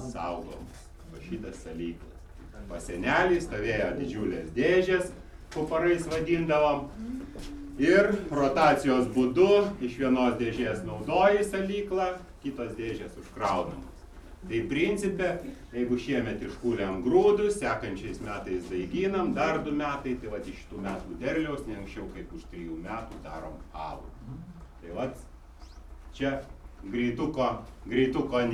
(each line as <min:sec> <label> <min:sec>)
0:00.0 Brewer R. Cizas speaks 0:24.2